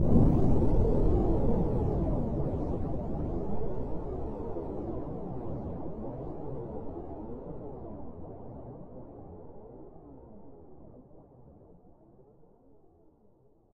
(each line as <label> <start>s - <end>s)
explosion 0.0s - 4.3s
Torpedo launch underwater 0.0s - 4.8s